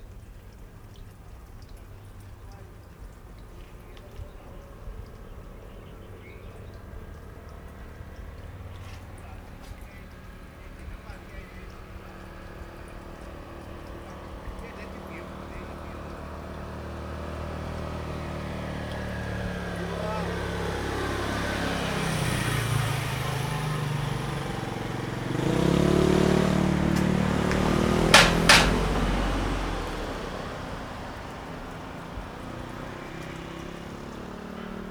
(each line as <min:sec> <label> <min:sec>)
0:00.0 water droplets 0:20.8
0:00.0 traffic sound 0:34.9
0:24.0 water droplets 0:34.9